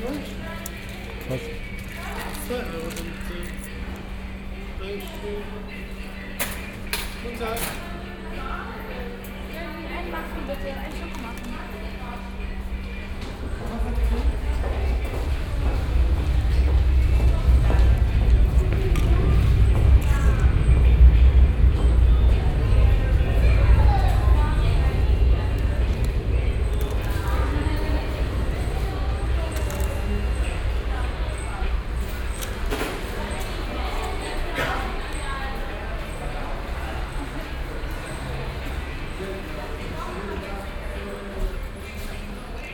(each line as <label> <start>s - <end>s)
noisy radio at the coffee stand 0.0s - 42.7s